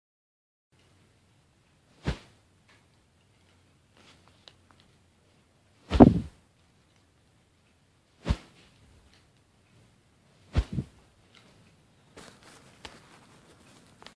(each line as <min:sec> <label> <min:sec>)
0:02.0 baseball bat swung quickly and wooshing past 0:02.4
0:05.9 baseball bat swung quickly and wooshing past 0:06.4
0:08.2 baseball bat swung quickly and wooshing past 0:08.6
0:10.5 baseball bat swung quickly and wooshing past 0:11.0